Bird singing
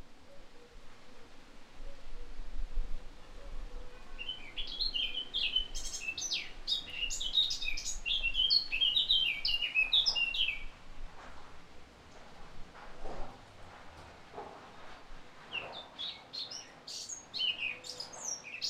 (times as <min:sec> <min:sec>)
0:03.8 0:10.8, 0:15.5 0:18.6